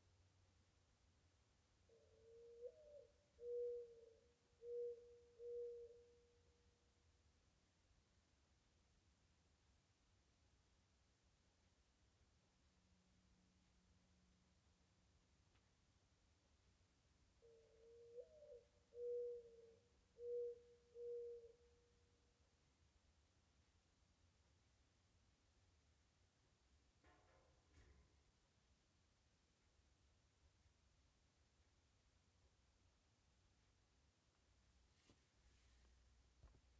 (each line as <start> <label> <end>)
1.7 gently cooing mourning dove 7.0
17.2 gently cooing mourning dove 22.6